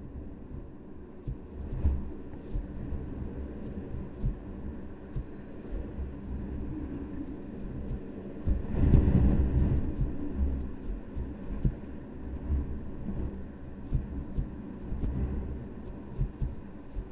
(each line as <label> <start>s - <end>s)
wind tumbling in the air vent 0.0s - 17.1s